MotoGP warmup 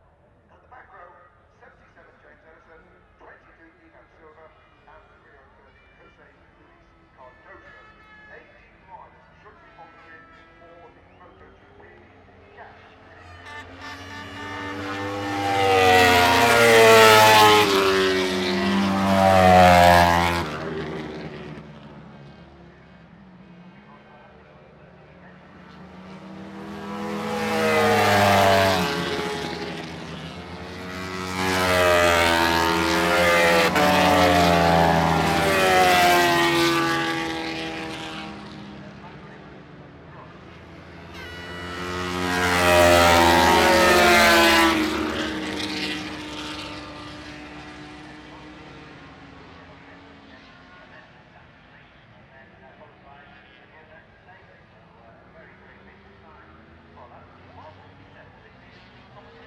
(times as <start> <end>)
12.9 23.1, 25.1 49.7